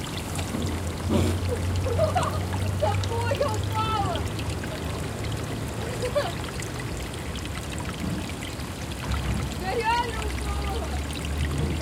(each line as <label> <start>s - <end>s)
water flow on roll 0.0s - 11.8s
Voices of two girls 2.0s - 4.2s
Voices of two girls 9.6s - 11.0s